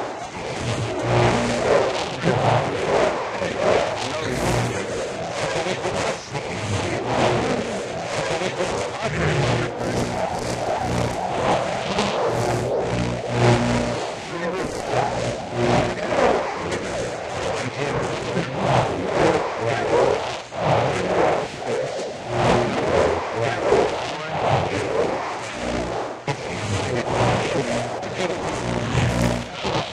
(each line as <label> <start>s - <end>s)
Intercepted Radio Transmissions 0.0s - 29.9s